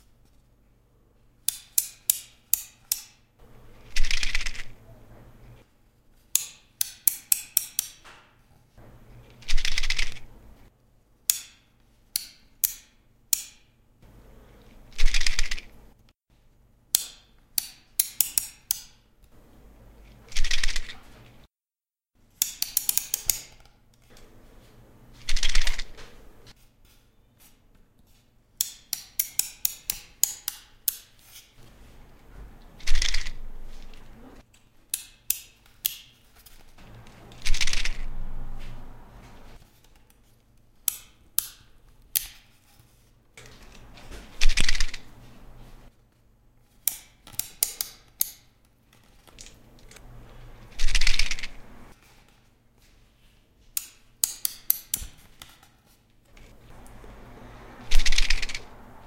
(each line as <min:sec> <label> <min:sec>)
0:20.0 apricot stones 0:21.5